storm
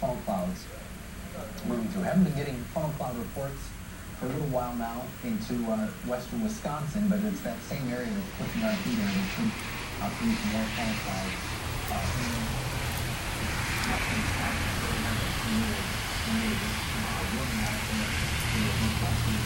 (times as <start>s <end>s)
7.9s 19.4s